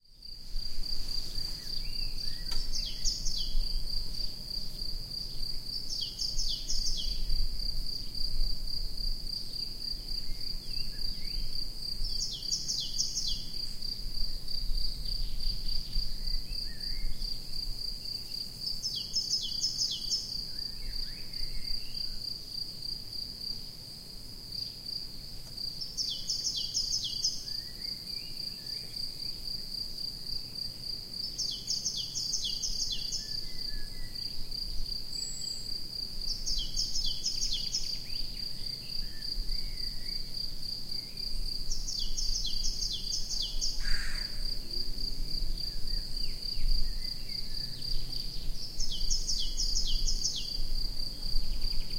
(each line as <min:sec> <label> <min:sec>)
0:01.4 Singing Birds 0:04.4
0:05.3 Singing Birds 0:07.3
0:10.2 Singing Birds 0:13.6
0:18.7 Singing Birds 0:22.1
0:25.8 Singing Birds 0:29.0
0:31.2 Singing Birds 0:34.3
0:35.1 Singing Birds 0:40.3
0:41.7 Singing Birds 0:44.4
0:45.7 Singing Birds 0:50.6